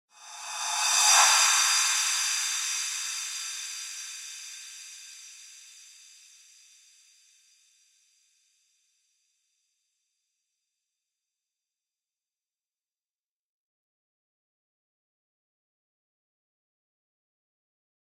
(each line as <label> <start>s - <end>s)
Reverse Cymbals 0.1s - 7.5s